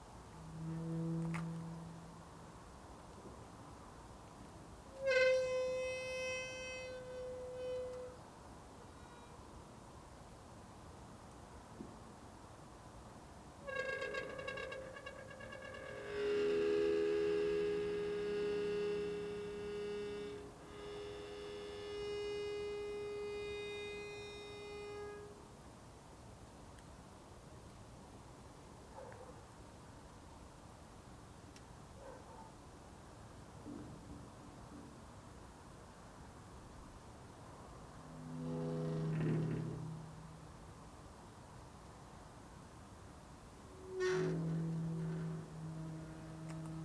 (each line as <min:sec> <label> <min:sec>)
0:00.0 Gate of the cemetery slowly opened and closed 0:02.6
0:04.4 Gate of the cemetery slowly opened and closed 0:09.5
0:13.5 Gate of the cemetery slowly opened and closed 0:25.5
0:37.4 Gate of the cemetery slowly opened and closed 0:41.4
0:43.2 Gate of the cemetery slowly opened and closed 0:46.8